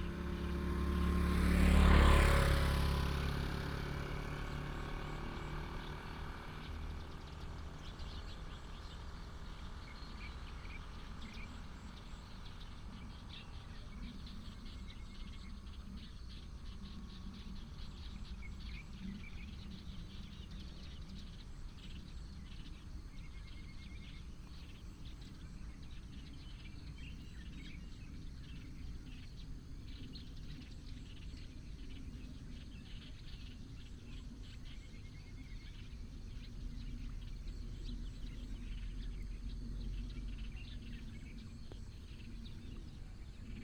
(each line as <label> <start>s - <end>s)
traffic sound 0.0s - 13.0s
Birds sound 0.0s - 43.6s